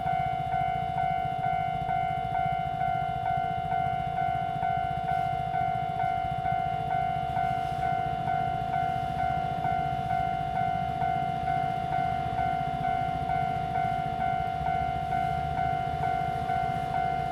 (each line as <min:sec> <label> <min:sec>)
0:00.0 Train traveling through 0:17.3
0:07.2 Traffic sound 0:17.3